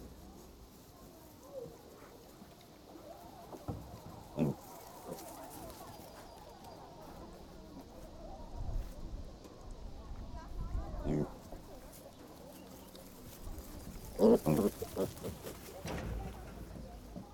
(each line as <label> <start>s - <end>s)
small pigs 0.0s - 8.2s
small pigs 10.8s - 16.3s